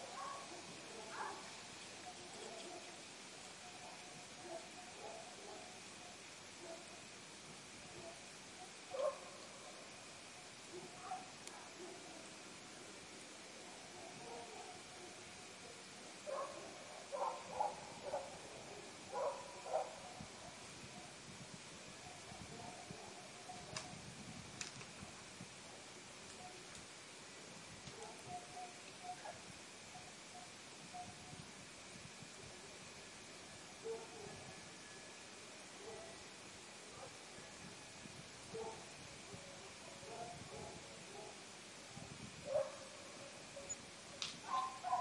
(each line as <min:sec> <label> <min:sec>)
0:00.0 dogs barking in the distance 0:07.1
0:07.9 dogs barking in the distance 0:12.4
0:13.6 dogs barking in the distance 0:21.1
0:27.9 dogs barking in the distance 0:31.1
0:33.7 dogs barking in the distance 0:34.6
0:35.8 dogs barking in the distance 0:36.3
0:38.5 dogs barking in the distance 0:41.5
0:42.4 dogs barking in the distance 0:45.0